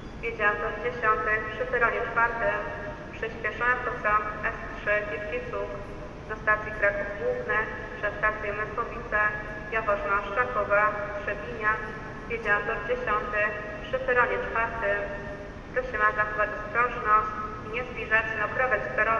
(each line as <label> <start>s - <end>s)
Platform announcements 0.1s - 19.1s